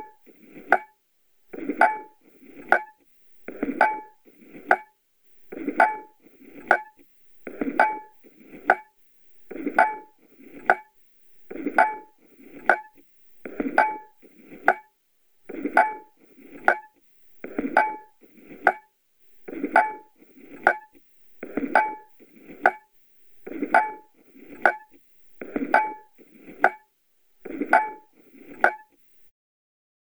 clockwork mechanism 19.4 - 26.8
clockwork mechanism 27.4 - 28.9

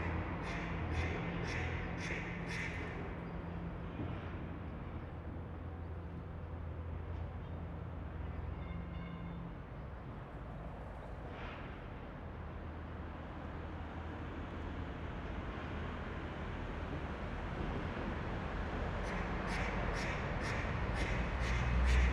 cars 0.0 - 22.1
trains 0.0 - 22.1

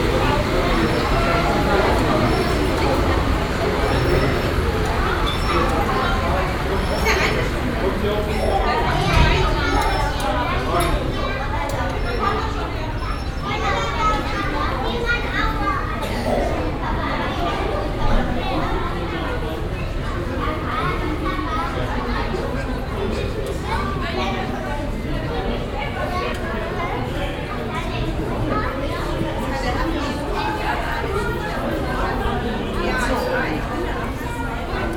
klicken der ticketmaschinen 0.0 - 14.4

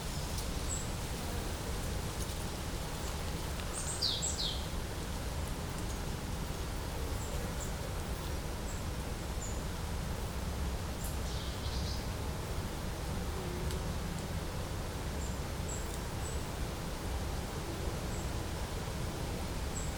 quiet forest sounds 0.0 - 19.9

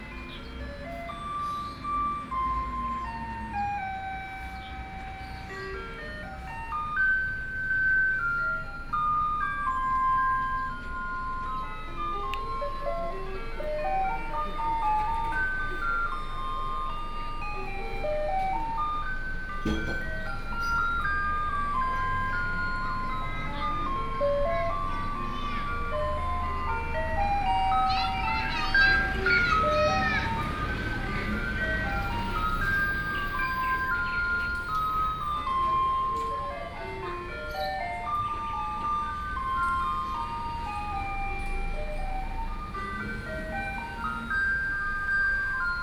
Garbage Truck 0.0 - 45.8
Traffic Sound 0.0 - 45.8
Birdsong sound 0.1 - 8.0
Birdsong sound 19.6 - 22.3

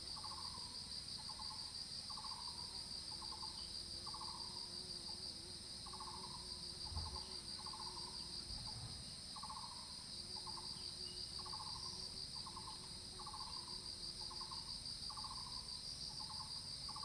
Insect sounds 0.0 - 17.0

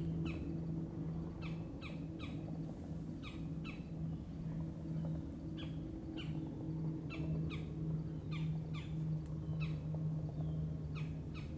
Boat 0.0 - 11.5

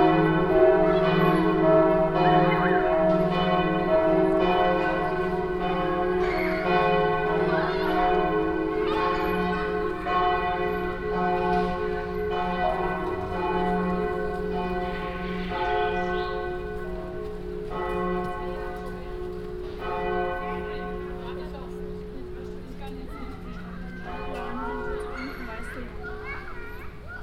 church bells 0.0 - 27.1
children playing 0.0 - 27.2

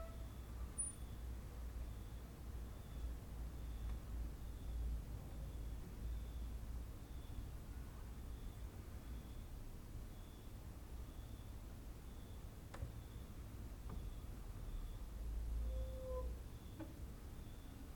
cricket outside 0.0 - 17.9

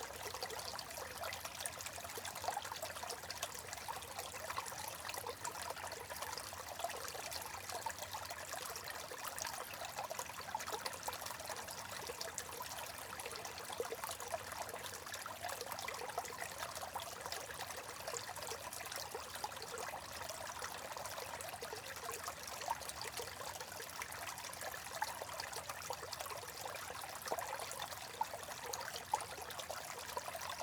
Trickling Water 0.0 - 30.6

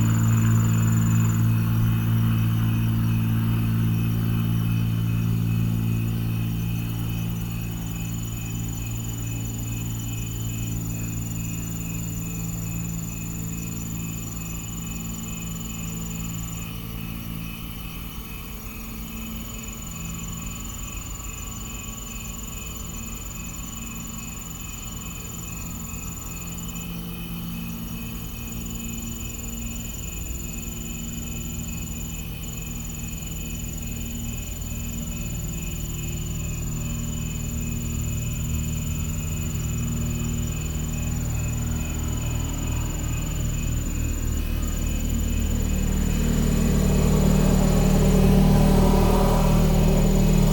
fixed wing Cessna circles above the fields 0.0 - 17.4
cicadas 0.0 - 50.5
crickets 0.0 - 50.5

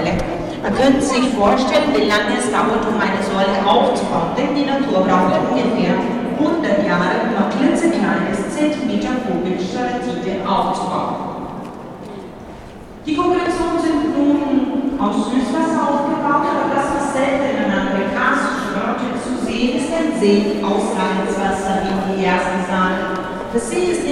Cave MC who walked around with a wireless mic 0.0 - 11.2

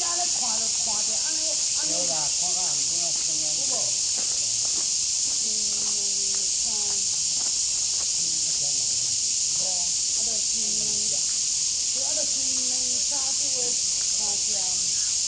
Cicadas cry 0.0 - 15.2
Footsteps 2.1 - 8.8

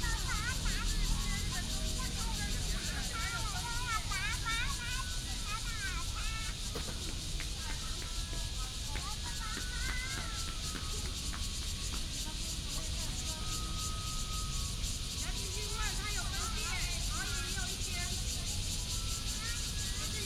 traffic sound 0.0 - 20.2
Cicadas 0.0 - 20.2

